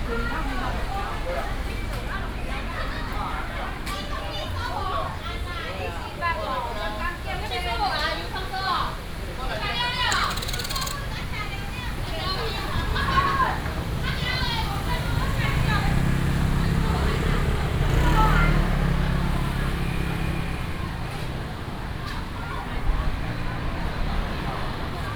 walking in the traditional market 0:00.0 - 0:25.1
traffic sound 0:08.3 - 0:25.1
vendors peddling 0:08.3 - 0:25.1

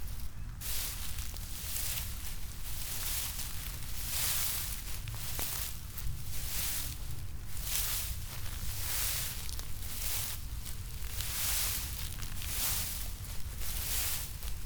walking with naked feets 0:00.0 - 0:14.6
tall grass 0:00.0 - 0:14.6

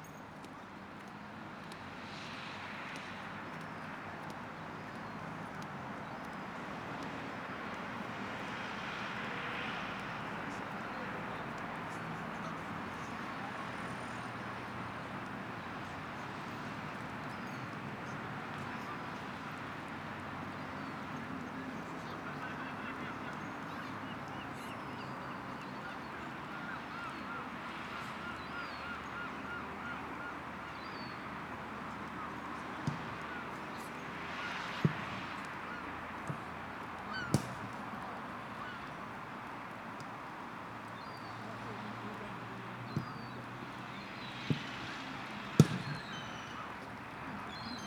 Traffic 0:00.0 - 0:47.8
voices 0:20.9 - 0:27.3

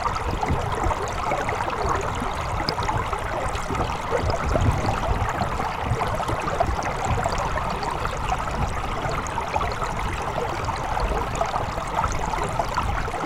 river, recorded underwater 0:00.0 - 0:13.2

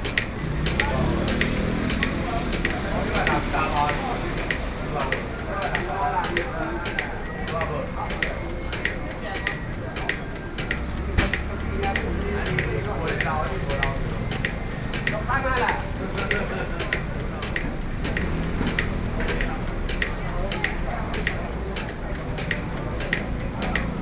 Vendors car 0:00.0 - 0:24.0

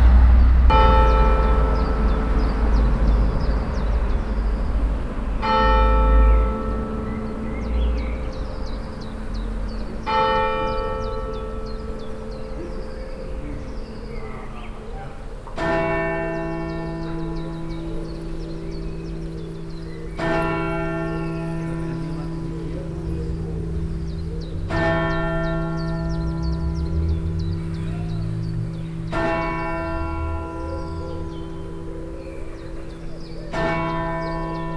flies gathering here in the warmth 0:16.3 - 0:34.7

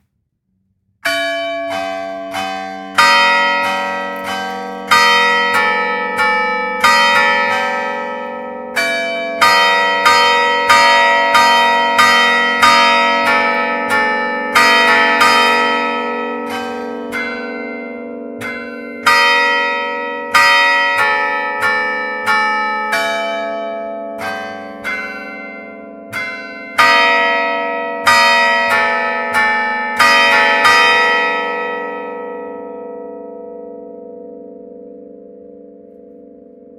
Church bells 0:01.0 - 0:36.7

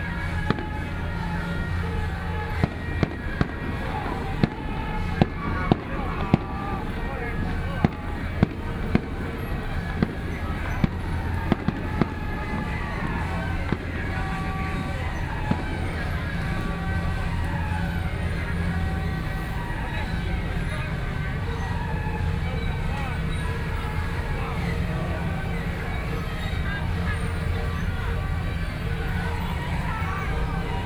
Traditional temple festivals 0:00.0 - 0:30.8
Traffic Sound 0:00.0 - 0:30.8
Fireworks sound 0:00.0 - 0:18.8

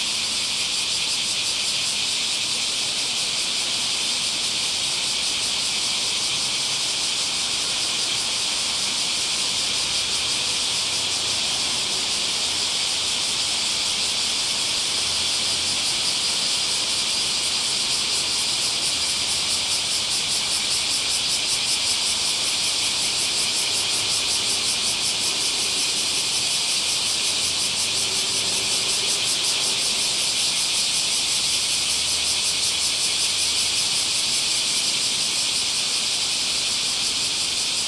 Cicadas 0:00.0 - 0:37.8
Traffic noise 0:00.0 - 0:37.8

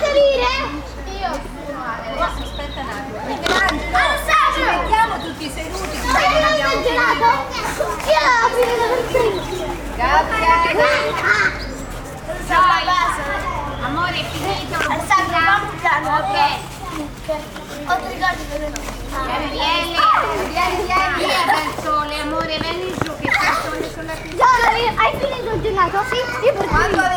Kids & Teachers 0:00.0 - 0:27.1

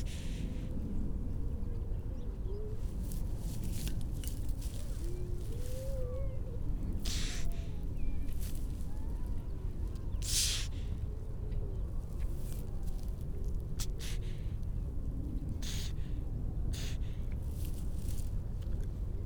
grey seals 0:05.0 - 0:07.7

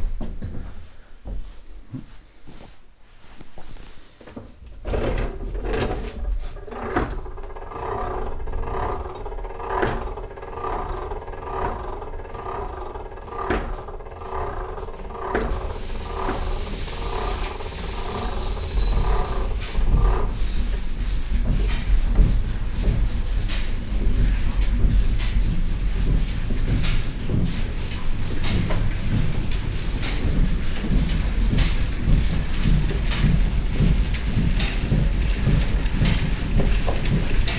Walking up the wooden staircase 0:00.0 - 0:37.5
mechanic that opens the inner water gates 0:04.7 - 0:37.5
activated mill mechanic 0:04.8 - 0:37.5

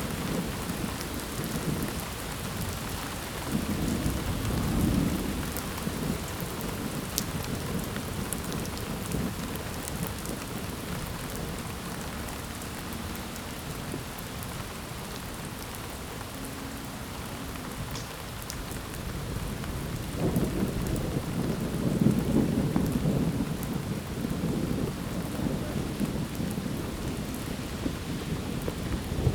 gentle thunderstorm rolls in 0:00.0 - 0:14.8
light rain 0:00.0 - 0:29.3
gentle thunderstorm rolls in 0:17.7 - 0:29.3

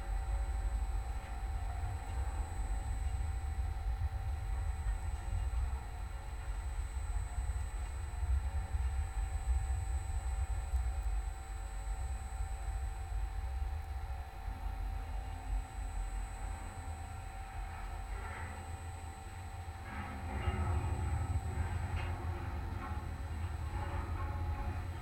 big metallic light tower 0:00.0 - 0:25.0
surrounding electromagnetic field 0:00.0 - 0:25.0

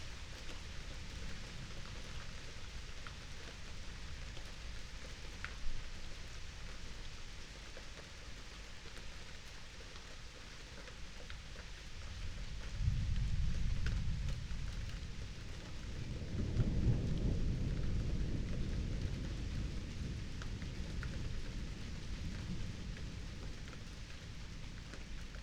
light rain 0:00.0 - 0:25.4
distant thunderstorm 0:12.1 - 0:25.4

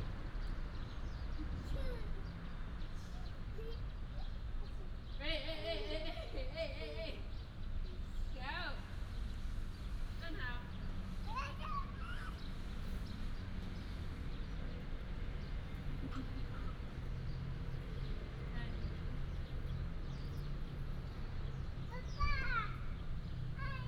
Traffic sound 0:00.0 - 0:23.8
birds 0:00.0 - 0:23.8

